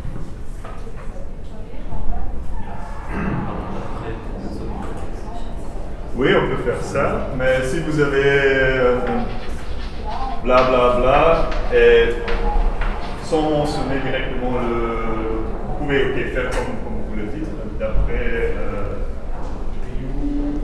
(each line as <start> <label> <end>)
0.6 course of legal matters 20.6